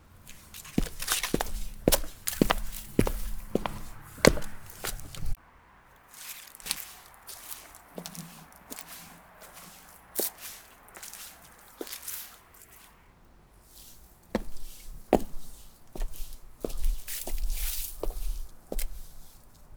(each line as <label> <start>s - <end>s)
Walking slowly on heels 0.0s - 5.4s
Walking slowly on heels 6.0s - 13.0s
Walking slowly on heels 13.6s - 19.7s